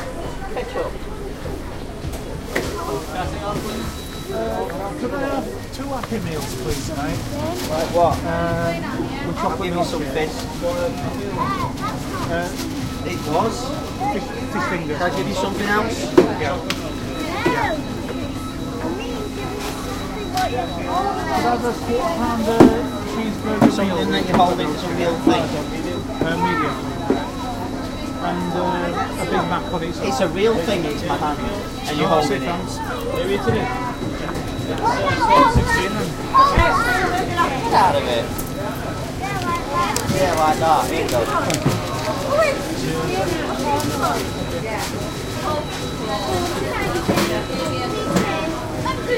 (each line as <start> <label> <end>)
0.0 Crowd 49.1